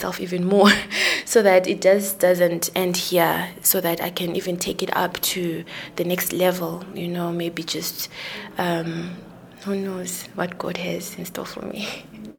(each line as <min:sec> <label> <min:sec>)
0:00.0 youths coordinator talks 0:12.3